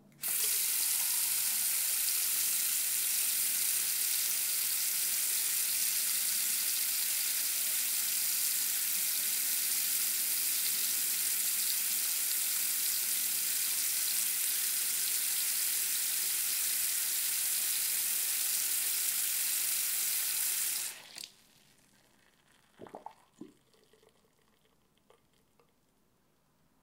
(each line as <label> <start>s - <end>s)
Turning my faucet on, letting the water run 0.2s - 21.3s